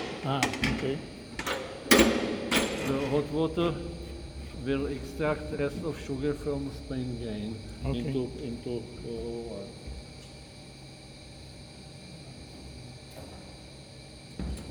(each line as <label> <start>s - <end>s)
adding hot water to the vats 0.0s - 8.3s